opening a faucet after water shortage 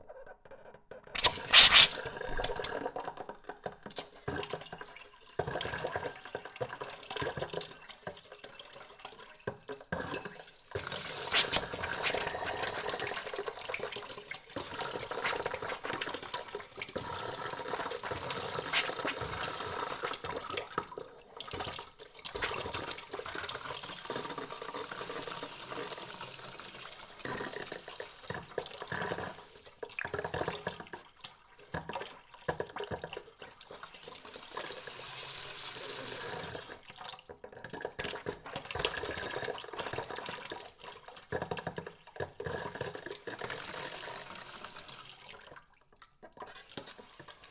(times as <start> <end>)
1.2 2.6, 11.3 12.3, 18.7 19.2